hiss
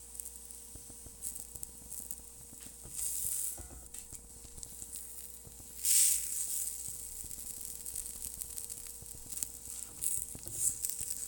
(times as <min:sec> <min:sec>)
0:04.5 0:11.2